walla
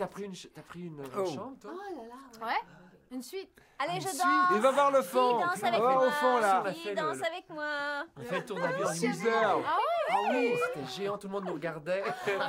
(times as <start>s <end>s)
3.8s 12.4s